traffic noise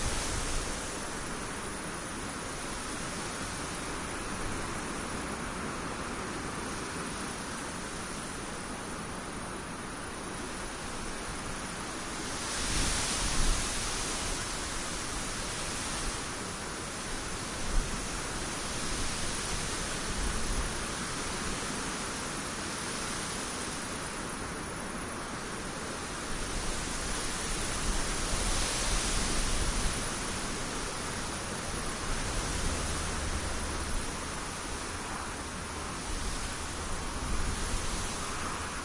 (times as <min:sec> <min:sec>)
0:28.3 0:38.8